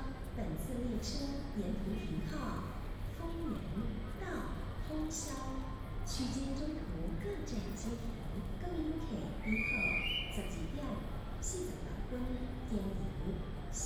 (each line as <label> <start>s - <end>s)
The train arrives 7.8s - 13.8s
Station Message Broadcast 9.4s - 10.6s